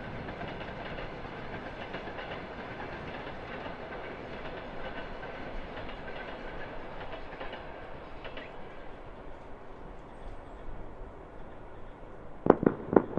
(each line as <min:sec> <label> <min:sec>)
0:12.4 Fireworks 0:13.1